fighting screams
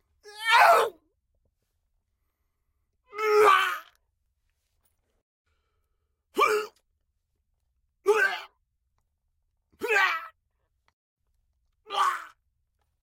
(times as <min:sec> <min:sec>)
0:00.3 0:01.0, 0:09.8 0:10.3, 0:11.9 0:12.4